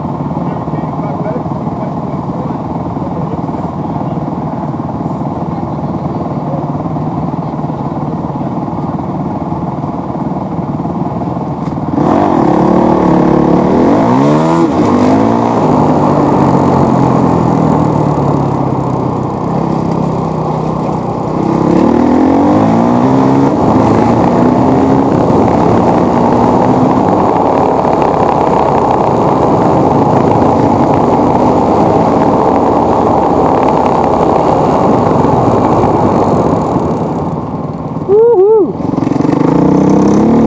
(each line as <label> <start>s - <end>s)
motorcycle dirt bike motocross onboard idle start accelerate fast 14.6s - 22.1s
motorcycle dirt bike motocross onboard idle start accelerate fast 38.8s - 40.4s